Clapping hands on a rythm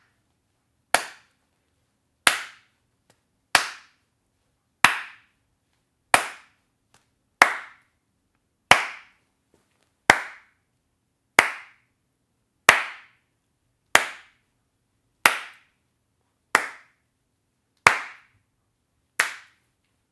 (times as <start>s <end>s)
0.9s 1.4s, 2.2s 4.0s, 4.8s 5.4s, 6.1s 7.9s, 8.7s 9.2s, 10.1s 10.6s, 11.4s 11.9s, 12.7s 13.2s, 15.2s 15.8s, 16.5s 17.0s, 17.8s 18.4s, 19.2s 19.6s